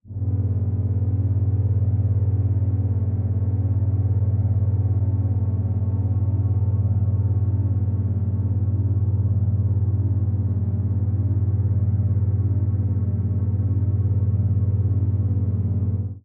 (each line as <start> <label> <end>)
0.0 Machine Rumble Drone 16.2